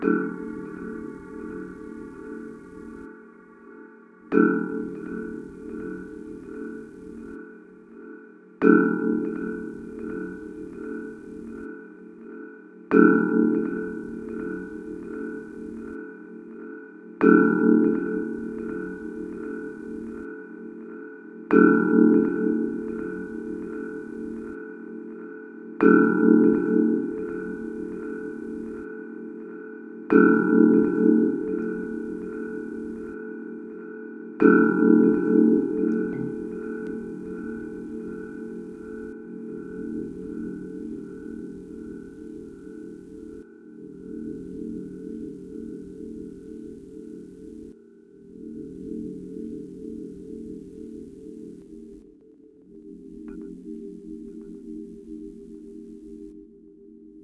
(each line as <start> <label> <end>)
0.0 deep pad sounds 8.1
34.8 deep pad sounds 47.7